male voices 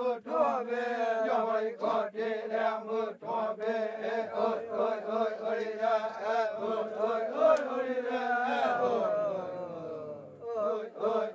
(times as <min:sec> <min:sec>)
0:03.9 0:11.2